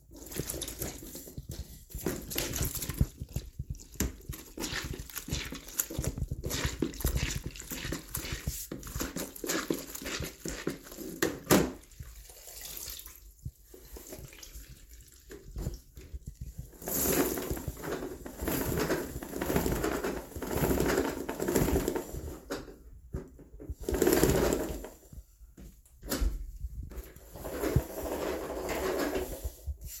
0.0s Mopping 30.0s
0.0s wringing with bucket spinner 12.6s
0.1s Spin mop drench in wet bucket 13.0s
0.1s put mop back in bucket 12.9s
13.7s put mop back in bucket 25.2s
13.8s Spin mop drench in wet bucket 22.6s
13.8s wringing with bucket spinner 22.5s
23.8s Spin mop drench in wet bucket 25.2s
26.0s put mop back in bucket 30.0s
27.2s Spin mop drench in wet bucket 29.7s

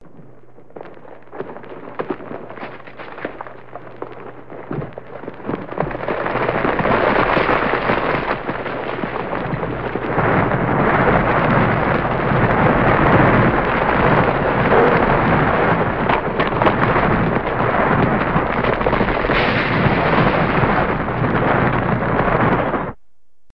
0.2s Pouring Gravel 22.9s

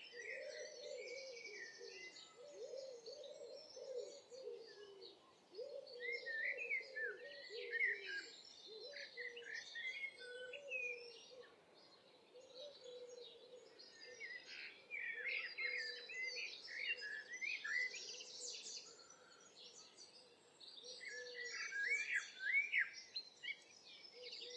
0.0s blackbird 24.5s
0.0s collared dove 24.5s
0.0s pheasant 24.5s
0.0s wind 24.5s

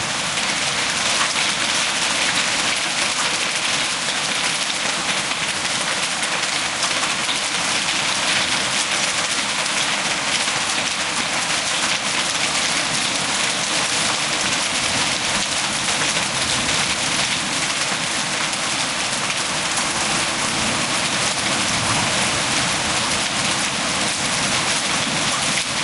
0.0s powerful rain 25.8s

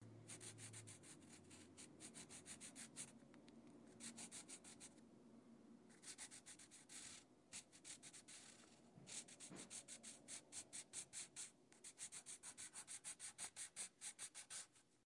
0.3s pencil drawing on paper 3.1s
3.9s pencil drawing on paper 4.9s
5.9s pencil drawing on paper 14.8s

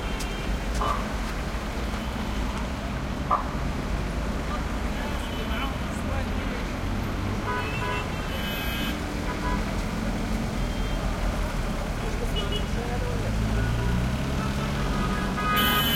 0.0s throaty cars motorcycles mopeds 15.9s
14.6s horn honks2 15.9s

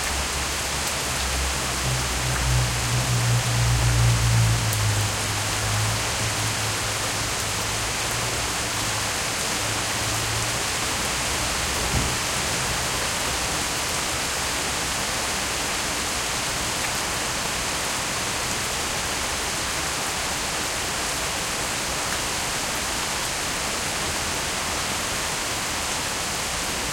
0.0s close-up dripping and flowing sounds 26.9s
0.0s rain on distant pavement and in trees 26.9s

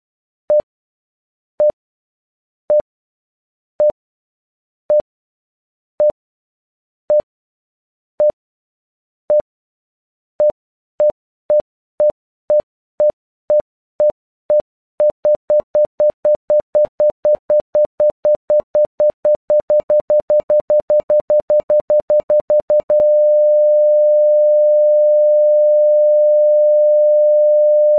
10.4s Tones generated and timed to mimic a heart monitor 23.2s

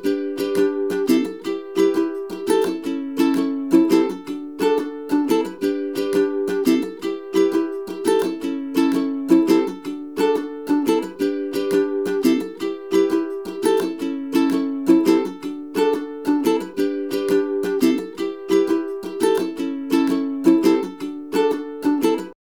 0.0s acoustic ukulele performing a short melodic phrase 22.4s

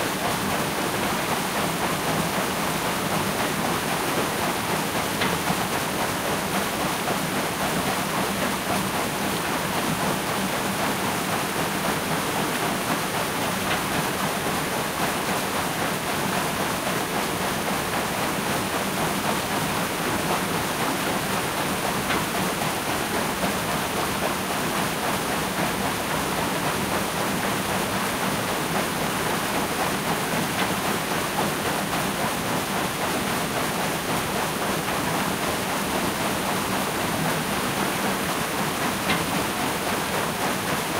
0.0s mill wheel 40.9s

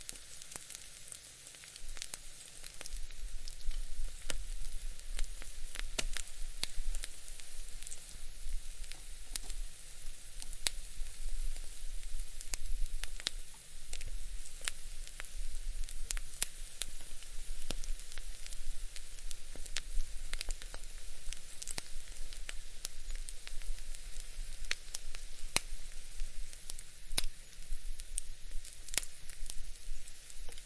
0.0s egg cooking on my stove top 30.6s

